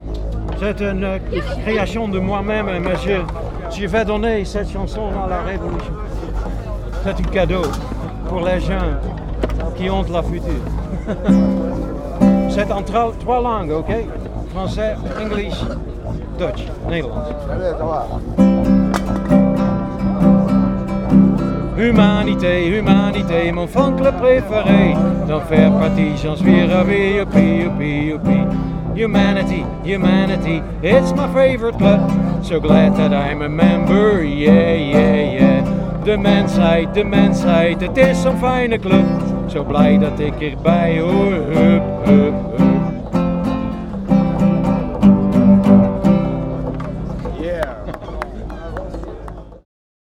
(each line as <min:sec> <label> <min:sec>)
0:21.1 singer 0:43.4